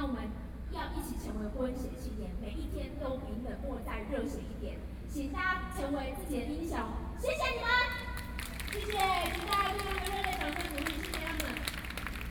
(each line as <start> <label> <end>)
7.9 Protest 12.3